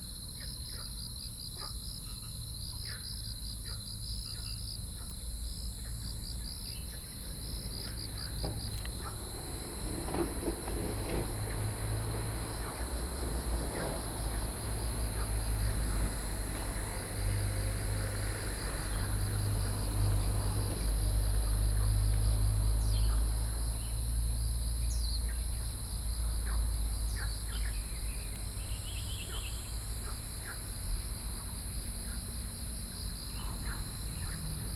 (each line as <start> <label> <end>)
0.0 Insect sounds 34.7
27.1 Birds singing 29.8